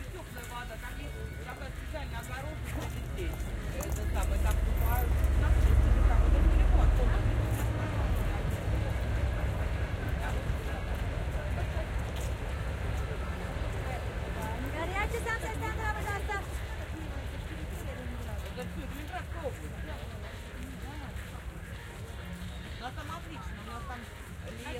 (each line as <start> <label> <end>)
0.0 conversation 24.7